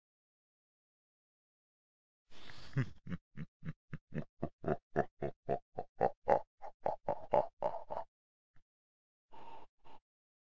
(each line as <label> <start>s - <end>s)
Evil laugh 2.4s - 8.1s